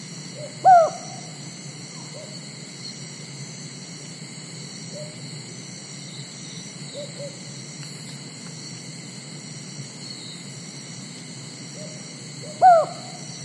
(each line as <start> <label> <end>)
0.0 cicadas 13.4
0.4 unknown bird (seems like cuckoo) 1.4
6.9 unknown bird (seems like cuckoo) 7.4
11.8 unknown bird (seems like cuckoo) 13.3